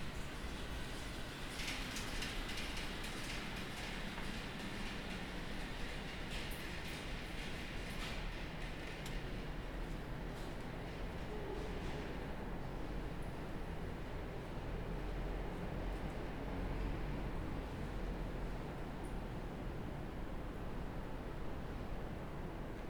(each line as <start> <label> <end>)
0.0 trains passing overhead 22.8